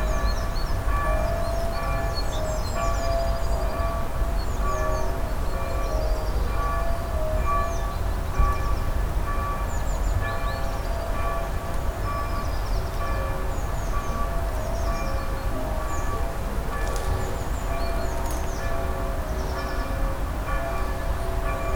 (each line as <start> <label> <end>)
0.0 Church Bell 21.7